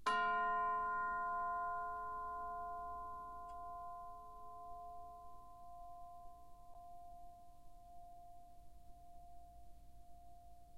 Orchestral Chimes/Tubular Bells 0:00.1 - 0:05.2

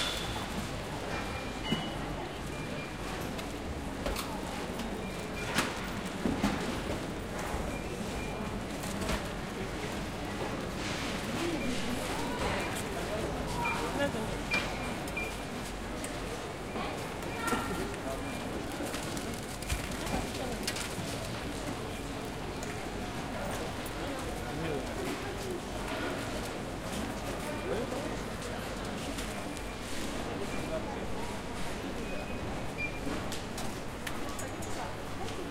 Peoples talks 0:00.0 - 0:35.5
Walking through the shop 0:00.0 - 0:35.5

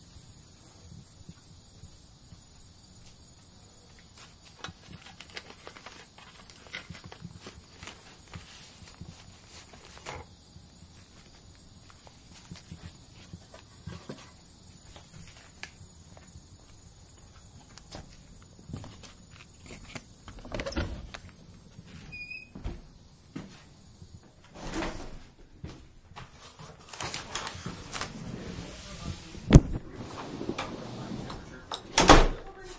crickets 0:00.0 - 0:32.7
newspaper 0:04.1 - 0:10.3
newspaper 0:26.4 - 0:31.6
weather stripping dragging the floor 0:26.4 - 0:31.6
mailbox 0:26.6 - 0:32.5
wooden door 0:29.4 - 0:32.6
talk 0:30.7 - 0:31.8
talk 0:32.4 - 0:32.7

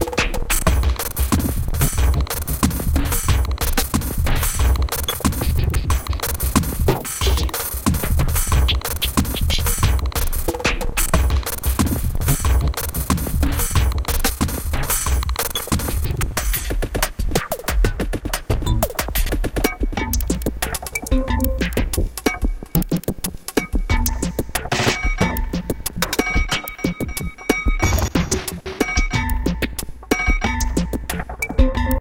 electronic sequencer drums 0:00.0 - 0:32.0

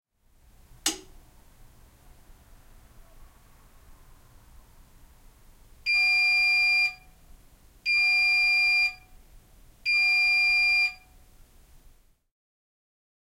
Washing Machine Finish Beep 0:05.9 - 0:07.1
Washing Machine Finish Beep 0:07.9 - 0:09.1
Washing Machine Finish Beep 0:09.9 - 0:11.1

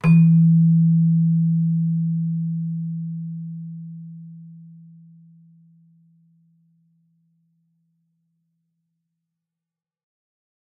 celesta 0:00.0 - 0:05.2

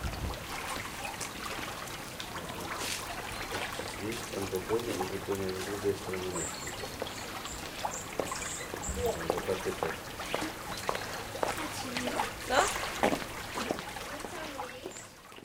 small river 0:00.0 - 0:15.4
talking family 0:11.5 - 0:15.1

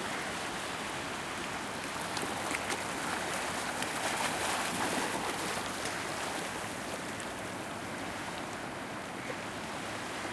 waves lake or ocean medium gentle splashing along low wall 0:00.0 - 0:10.3

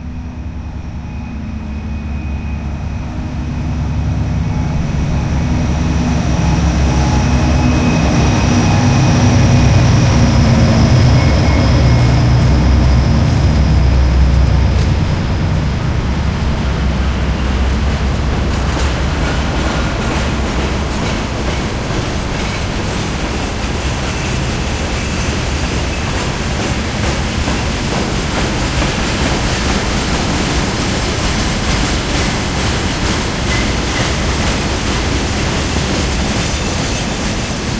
train 0:00.0 - 0:37.7
trams 0:00.0 - 0:37.7

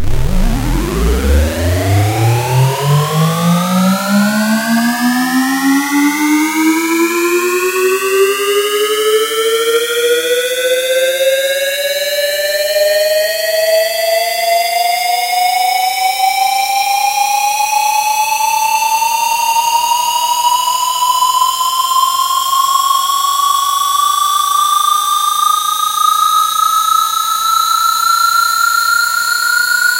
synth 0:00.0 - 0:08.2

